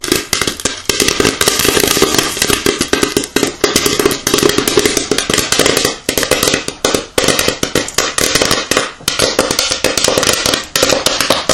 0.0s Pop Corn popping 11.5s

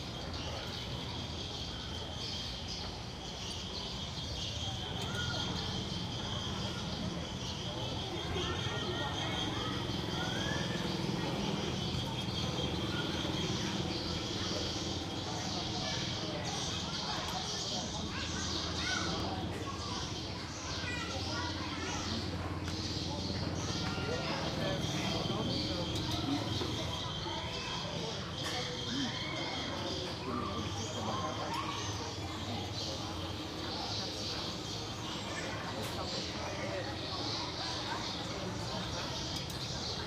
0.0s noisy birds 40.0s
0.0s people 40.0s
0.0s traffic 40.0s

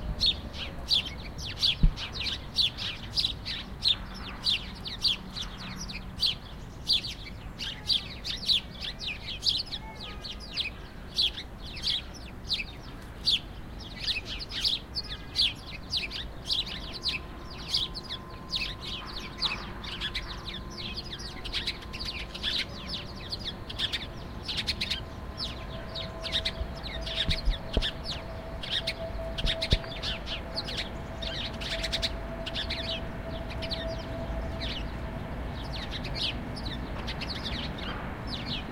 0.0s Birds 38.7s

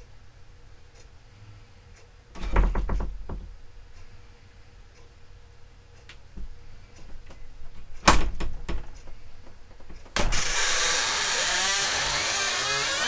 2.4s creaky wooden door 3.4s
10.1s creaky wooden door 13.0s

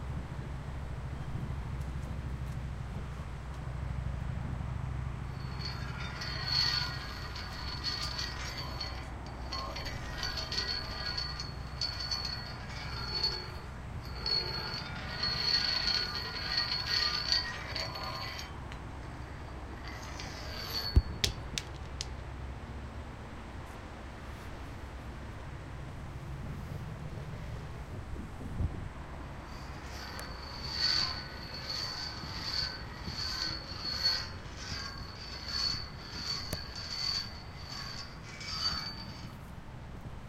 5.1s rock on concrete stairs and metal railing 22.4s
29.4s rock on concrete stairs and metal railing 40.2s

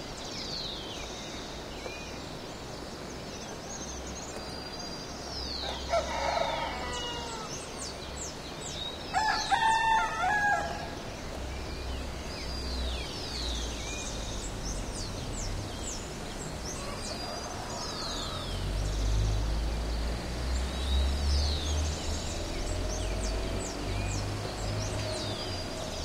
5.6s rooster 7.5s

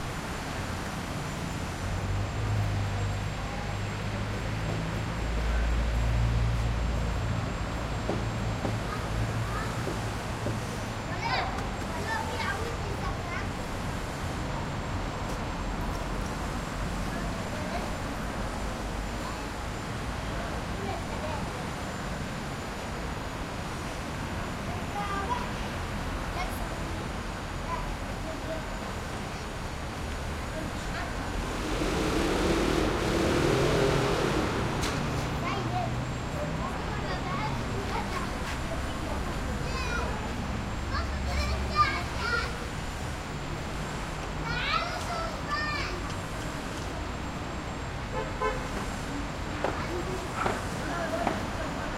0.0s quietish traffic 51.9s
5.4s children kids collecting and playing in coal 13.7s
26.3s children kids collecting and playing in coal 42.6s
27.9s nearby construction 51.9s
43.6s children kids collecting and playing in coal 47.3s

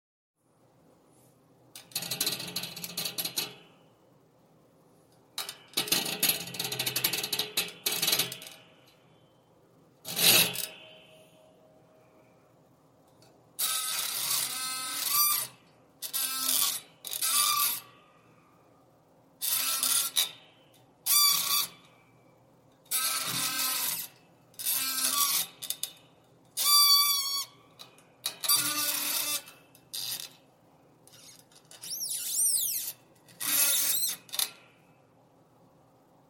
10.1s Spring metal grind squeak 11.2s
13.6s Spring metal grind squeak 18.0s
19.4s Spring metal grind squeak 22.0s
22.9s Spring metal grind squeak 26.0s
26.6s Spring metal grind squeak 30.4s
31.1s Spring metal grind squeak 34.8s

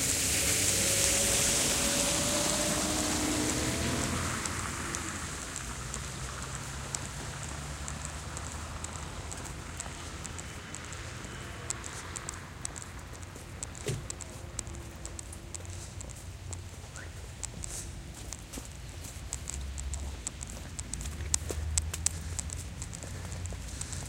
0.0s cars passing by 24.0s

